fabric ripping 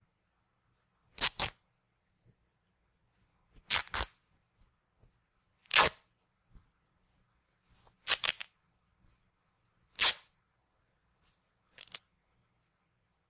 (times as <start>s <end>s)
1.2s 1.6s, 3.7s 4.2s, 5.7s 6.0s, 8.0s 8.5s, 9.9s 10.3s